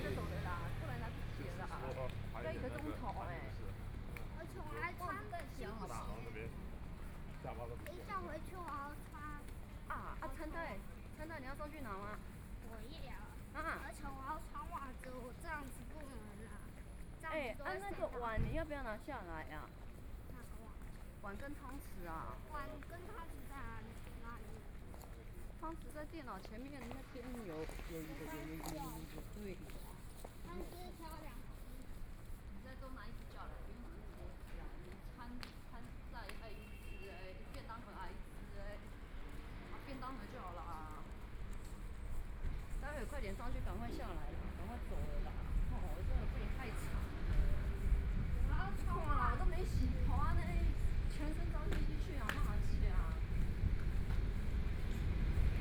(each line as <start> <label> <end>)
0.0 Mother and child 7.2
0.0 Traffic Sound 55.6
0.0 Walking on the road 55.6
7.8 Mother and child 39.1